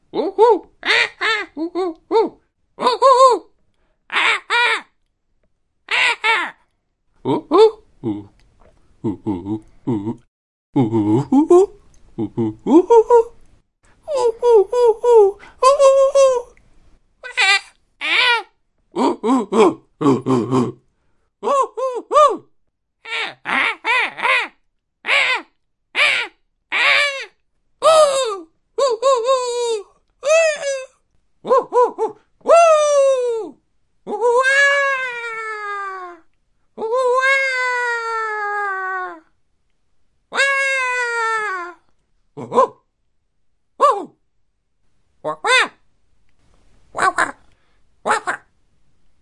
cartoon/anime style monkey 0.0 - 3.5
cartoon/anime style monkey 4.1 - 5.0
cartoon/anime style monkey 5.8 - 6.6
cartoon/anime style monkey 7.2 - 8.4
cartoon/anime style monkey 9.0 - 13.4
cartoon/anime style monkey 14.0 - 16.6
cartoon/anime style monkey 17.2 - 20.8
cartoon/anime style monkey 21.4 - 39.4
cartoon/anime style monkey 40.3 - 42.9
cartoon/anime style monkey 43.8 - 44.2
cartoon/anime style monkey 45.2 - 45.8
cartoon/anime style monkey 46.9 - 48.6

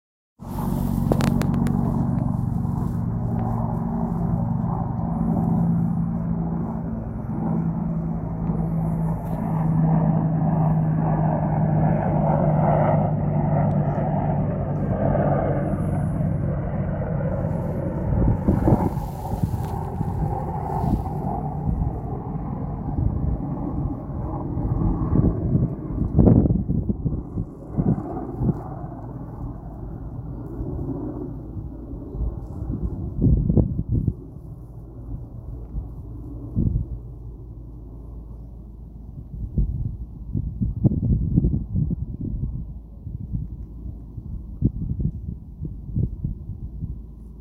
Helicopter 0.4 - 47.4

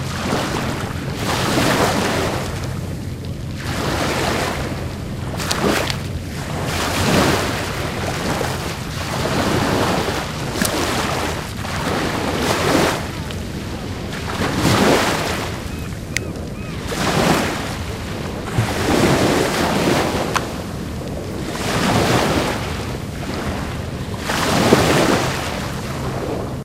Small waves hitting the rocky coast 0.0 - 26.6

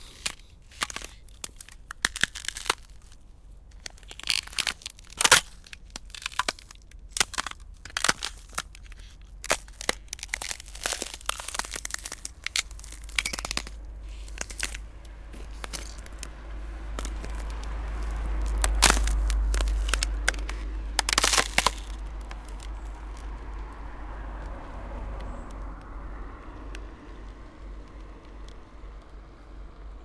Breaking a sheet of ice underfoot 0.0 - 3.2
Breaking a sheet of ice underfoot 3.8 - 14.8
Breaking a sheet of ice underfoot 15.4 - 16.3
Breaking a sheet of ice underfoot 17.0 - 23.3

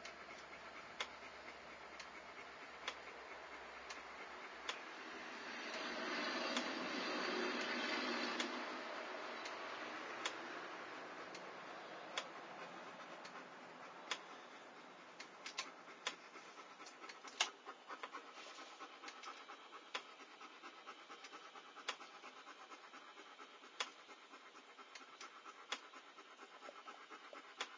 German Shepherd puppy panting 0.0 - 27.7
car sounds from across the street 4.5 - 15.4

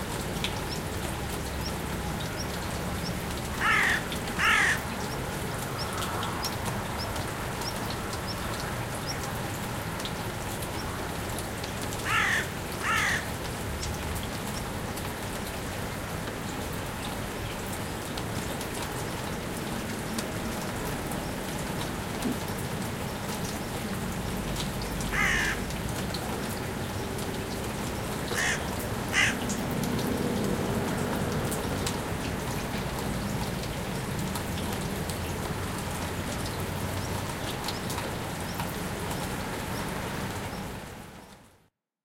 lightrain 0.0 - 41.7
Almost inaudible traffic 0.0 - 41.7
lonely crow sits on a tree and caws 3.3 - 7.8
lonely crow sits on a tree and caws 11.1 - 13.6
lonely crow sits on a tree and caws 24.8 - 26.8
lonely crow sits on a tree and caws 27.6 - 31.6

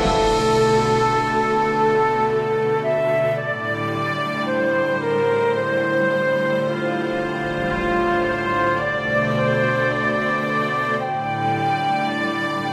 drums 0.0 - 4.6
cello 0.0 - 12.7
flute 0.0 - 12.7
horns 0.0 - 12.7
viola 0.0 - 12.7
violin 0.0 - 12.7

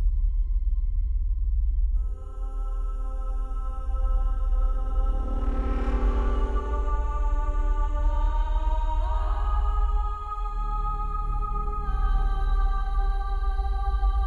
Heavy Drone 2.0 - 14.2

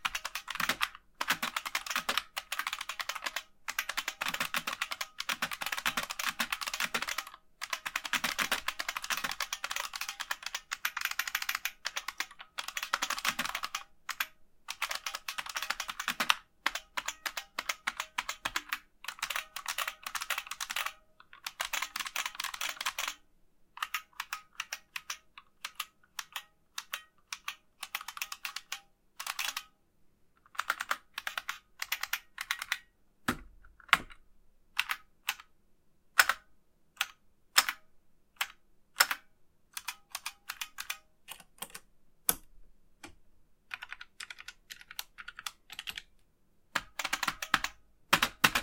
Typing sounds 0.0 - 23.2
Typing sounds 23.8 - 29.7
Typing sounds 30.5 - 32.9
push several non-keyboard buttons 38.4 - 46.1
Typing sounds 43.7 - 46.1
Typing sounds 46.8 - 48.6

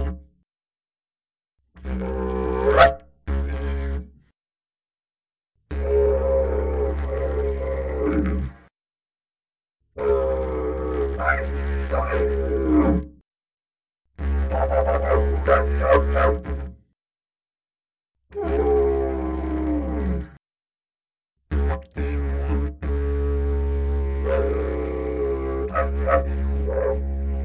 didgeridoo 0.0 - 0.2
didgeridoo 1.8 - 4.2
didgeridoo 5.7 - 8.7
didgeridoo 10.0 - 13.2
didgeridoo 14.2 - 16.9
didgeridoo 18.3 - 20.4
didgeridoo 21.5 - 27.4

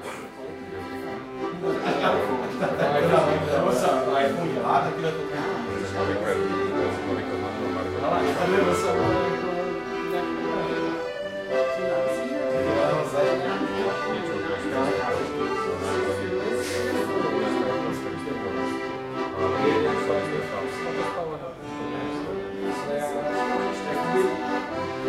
crowd 0.0 - 6.4
accordeon 0.0 - 25.0

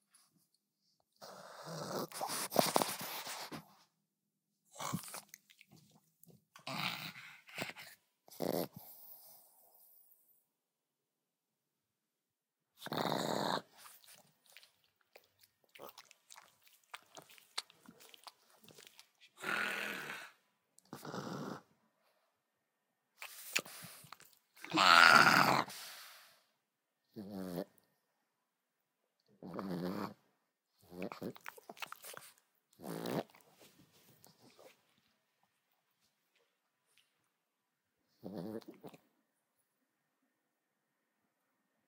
snorts 1.2 - 3.6
snorts 4.7 - 5.4
snorts 6.6 - 10.0
snorts 12.8 - 14.6
snorts 15.8 - 21.7
snarls 24.6 - 25.8
snorts 29.4 - 30.2
snorts 30.8 - 33.5
snorts 38.2 - 39.0

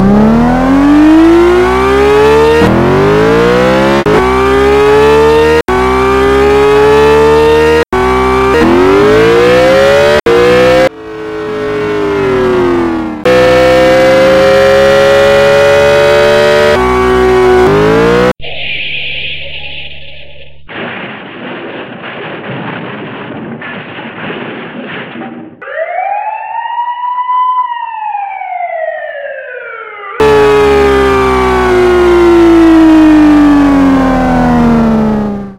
3 cars in one race 0.0 - 19.9
3 cars in one race 28.1 - 35.5

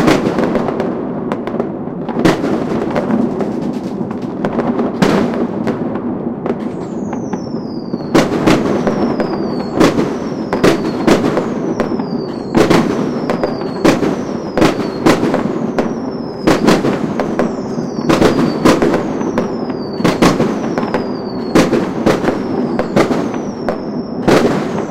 Firecrackers 0.0 - 24.9

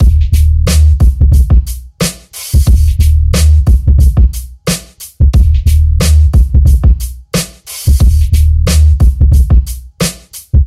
flat baseline 0.0 - 10.6
oldskoolish hiphop beat 0.0 - 10.6

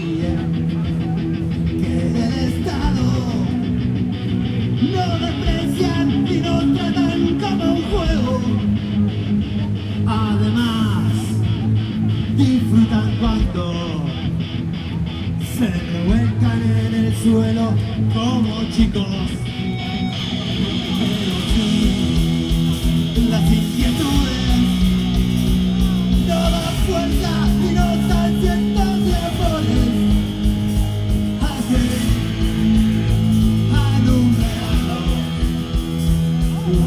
protest 0.0 - 36.8

